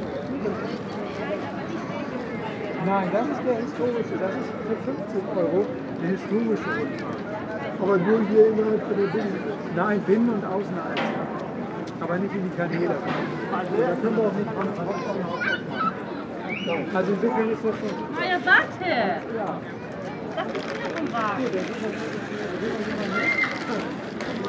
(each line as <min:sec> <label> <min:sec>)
0:18.0 calls from tourist boats 0:24.4